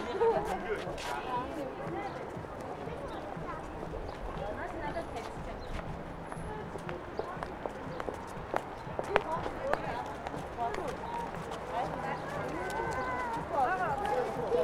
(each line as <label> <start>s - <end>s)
steps 0.0s - 14.6s